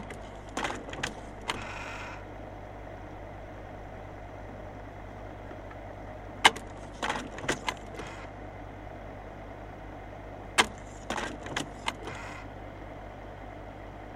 0.0s slide projector 2.2s
6.4s slide projector 8.4s
10.6s slide projector 12.6s

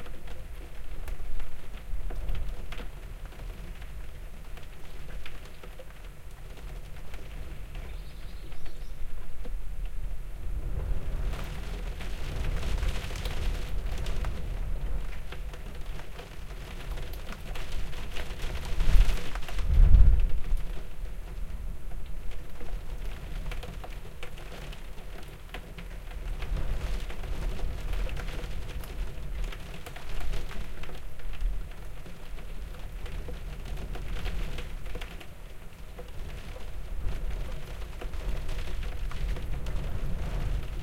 9.2s stormy weather battering the North East coast 40.8s

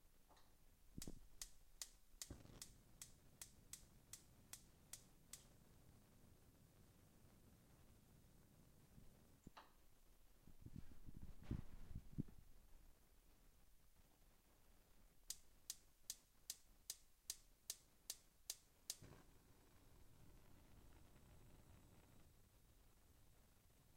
1.0s gas stove igniter 5.5s
1.0s flame 8.9s
18.5s flame 23.9s

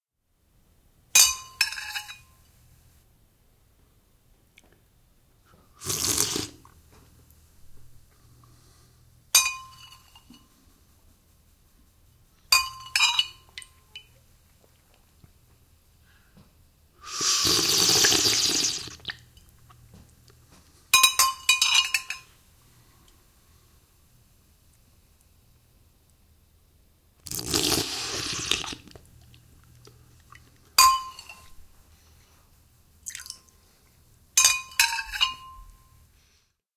5.8s greedily slurping contents 6.8s
17.0s greedily slurping contents 19.2s
27.2s greedily slurping contents 30.6s

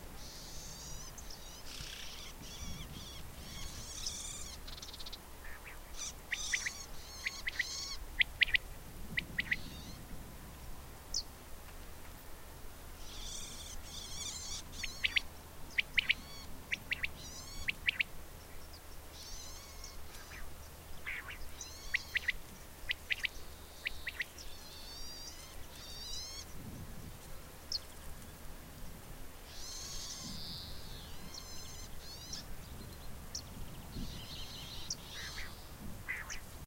5.4s quail 8.6s
9.2s quail 10.0s
13.1s quail 15.2s
15.8s quail 18.1s
19.1s warblers 26.5s
19.2s quail 26.4s
33.3s warblers 36.5s
34.2s quail 36.4s

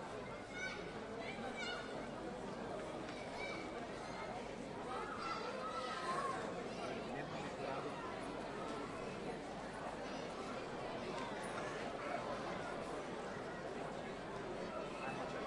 0.0s people 15.4s
0.2s children 2.2s
2.8s children 7.0s

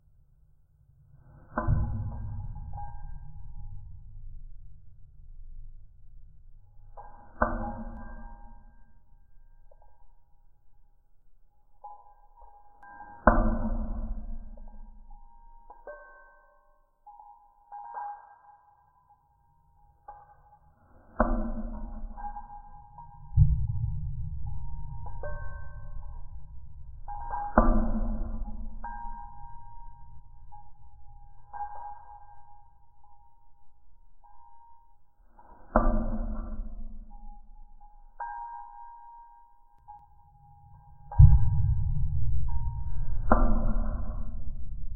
11.6s ticking on an iron rail 44.9s

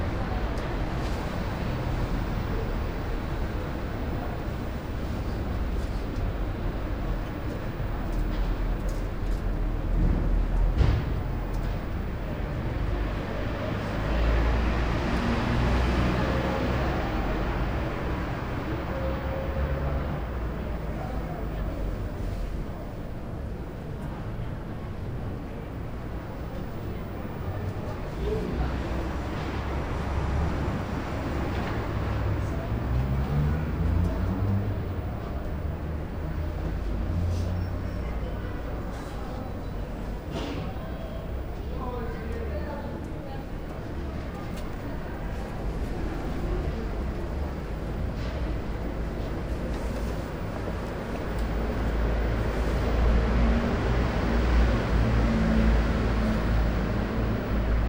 0.0s low traffic 57.8s

